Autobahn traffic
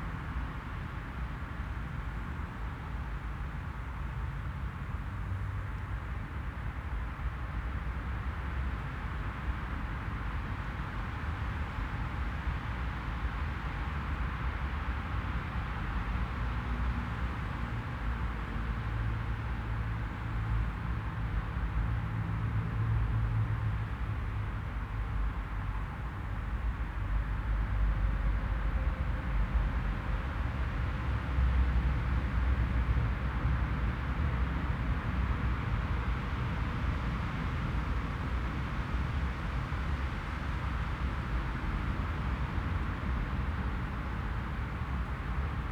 22.3 38.5

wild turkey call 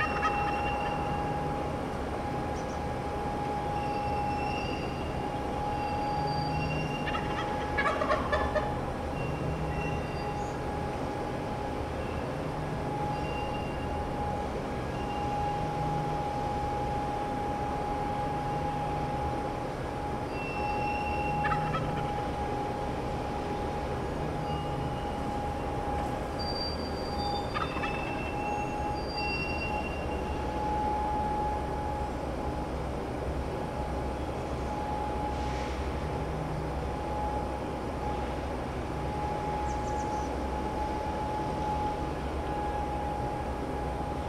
0.0 1.4, 5.8 10.6, 20.3 22.4, 27.2 30.0

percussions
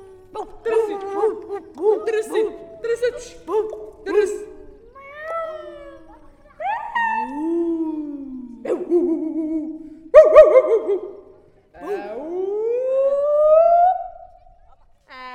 0.0 7.7

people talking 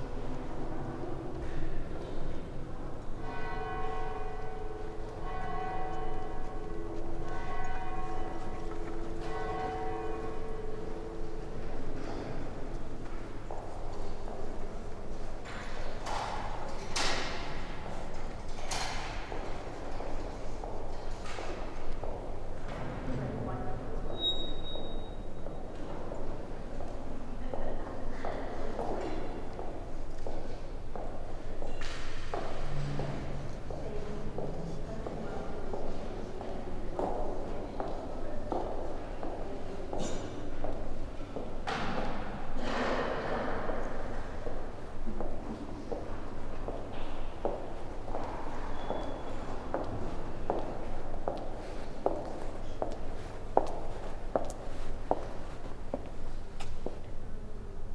23.0 24.3, 32.8 41.6

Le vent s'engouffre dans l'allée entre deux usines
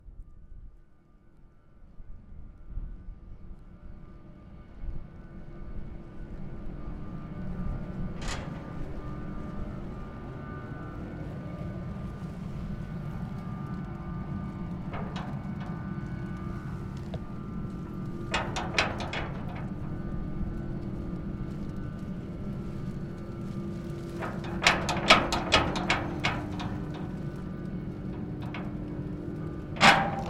8.0 30.2

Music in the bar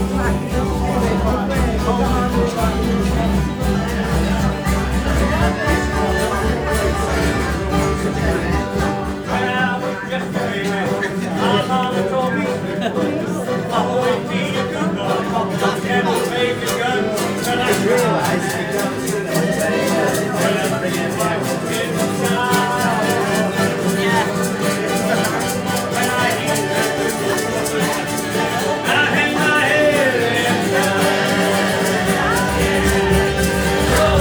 15.4 34.2

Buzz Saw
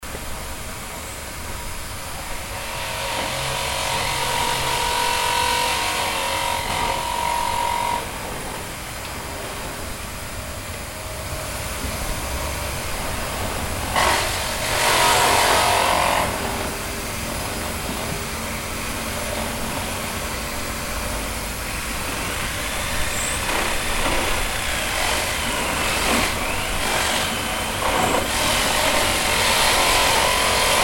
2.4 8.5, 13.8 16.9, 21.6 30.8

